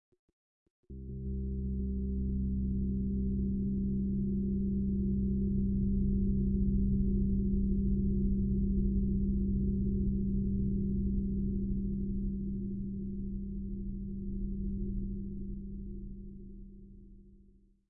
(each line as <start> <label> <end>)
0.9 bass drone 17.2